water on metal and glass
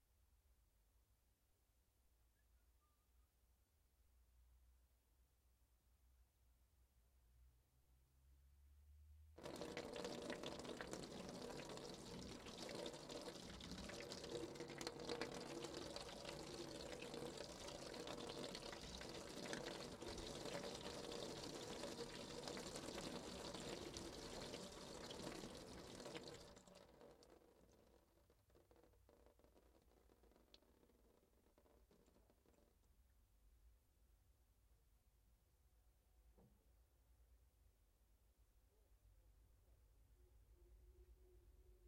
0:09.4 0:32.8

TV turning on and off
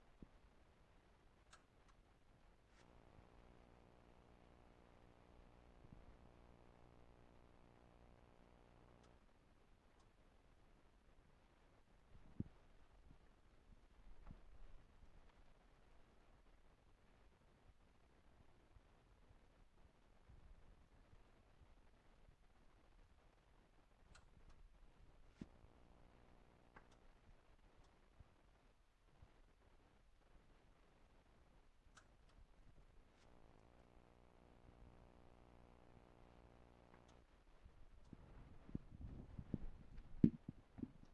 0:01.2 0:11.6, 0:21.9 0:41.1

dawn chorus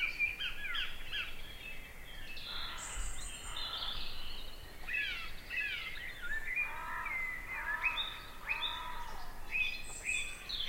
0:02.4 0:10.6

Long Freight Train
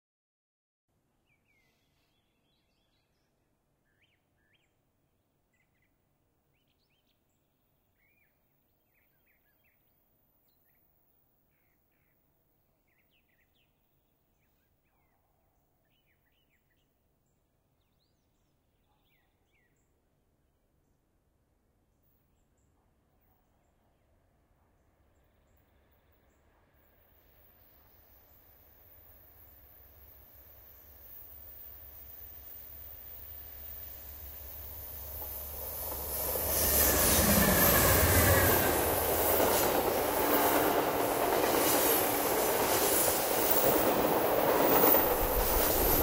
0:24.6 0:46.0

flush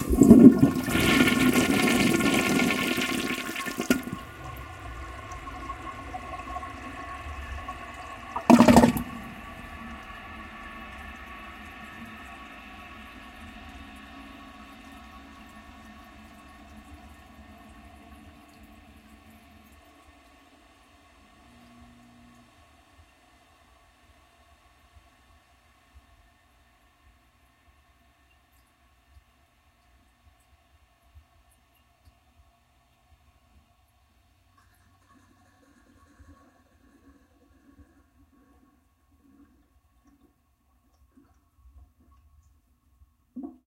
0:00.0 0:18.6

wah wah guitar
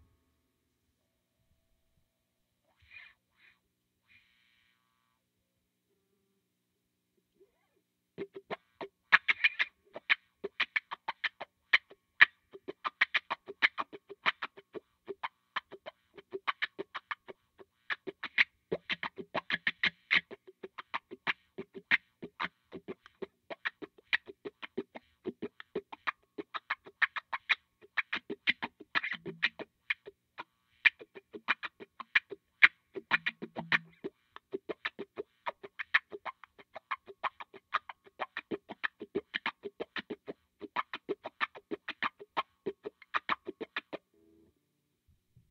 0:08.2 0:44.0

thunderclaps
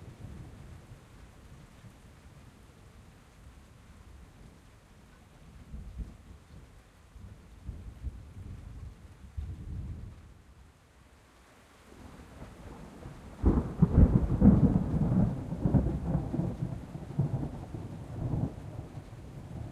0:12.7 0:19.7

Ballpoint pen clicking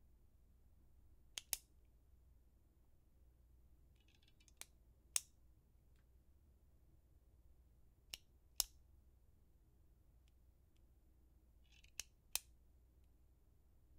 0:01.3 0:01.7, 0:04.0 0:05.3, 0:08.1 0:08.8, 0:11.6 0:12.5

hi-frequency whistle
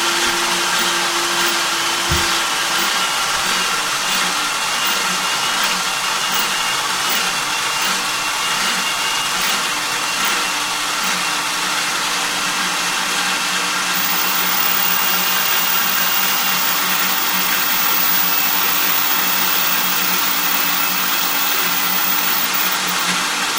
0:14.0 0:23.0

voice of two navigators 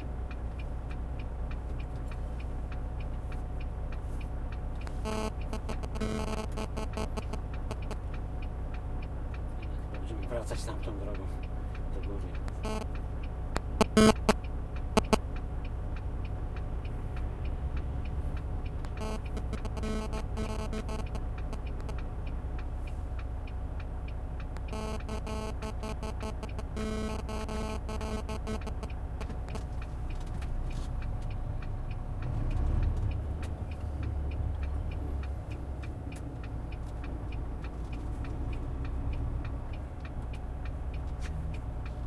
0:05.1 0:08.0, 0:09.6 0:13.0, 0:13.6 0:15.2, 0:18.9 0:22.0, 0:24.6 0:28.9

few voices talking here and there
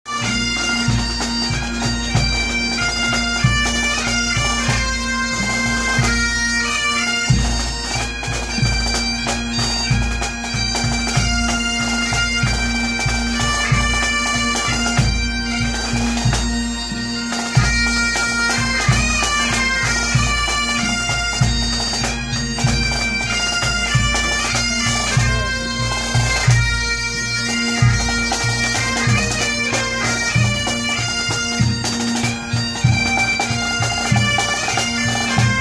0:24.0 0:26.5

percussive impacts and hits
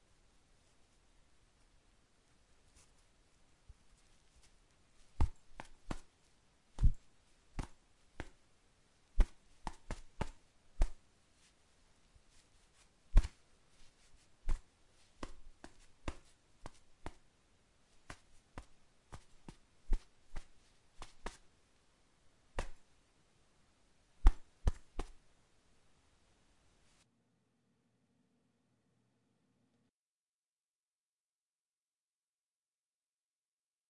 0:06.8 0:07.0, 0:22.6 0:22.8

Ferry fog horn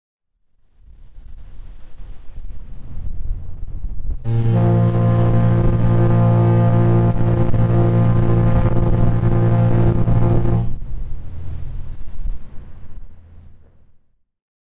0:04.2 0:13.4

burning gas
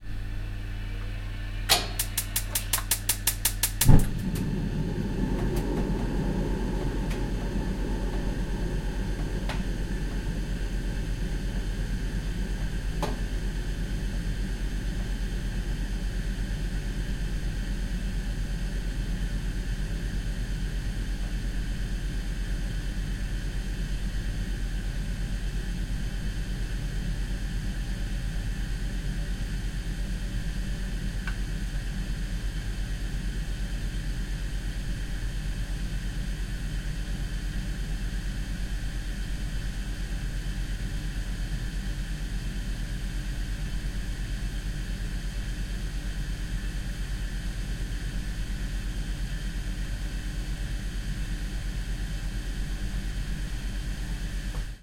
0:03.8 0:13.0

